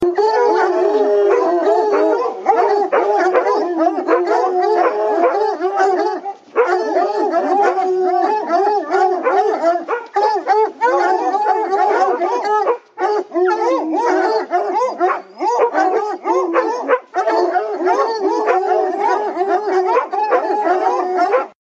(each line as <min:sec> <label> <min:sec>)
0:00.0 pack of hunting hounds belling 0:21.6